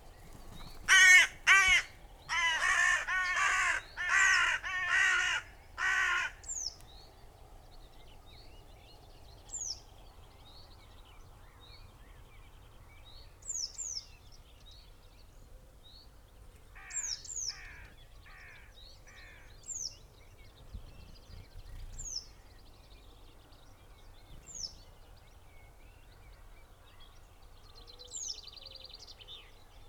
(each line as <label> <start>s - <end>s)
loose flock of crows flapped 0.0s - 6.3s
crows 0.6s - 6.6s
crows 16.8s - 19.6s